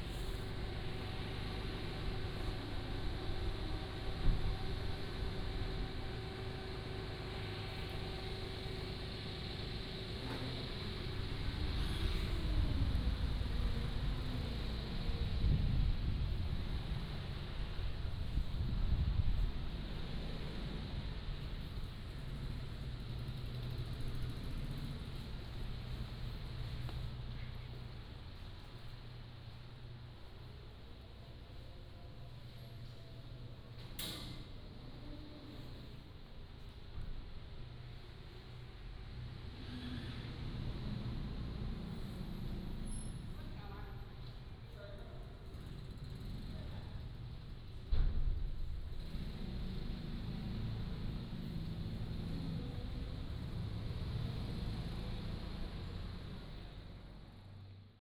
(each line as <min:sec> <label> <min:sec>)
0:00.0 wind 0:58.0
0:19.3 Construction 0:57.8